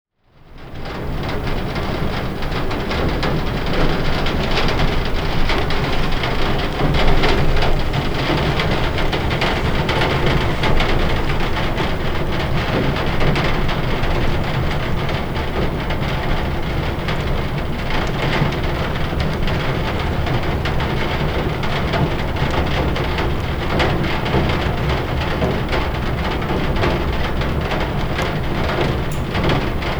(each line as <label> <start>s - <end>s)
rain 0.5s - 29.9s